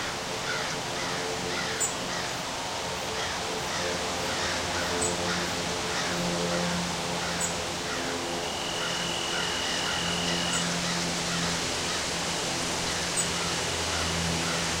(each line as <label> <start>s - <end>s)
birds 0.0s - 14.8s
highway 0.0s - 14.8s
steady, light wind 0.0s - 14.8s